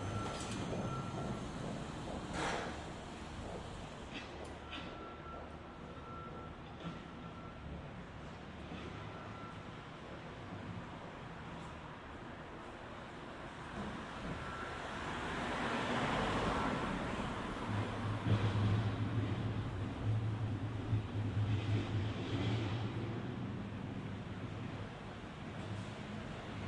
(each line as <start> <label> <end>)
0.0 brake squeals 7.7
0.0 engine noises 11.8
0.0 city hum 26.6
13.6 engine noises 26.6
13.7 cars driving by 24.8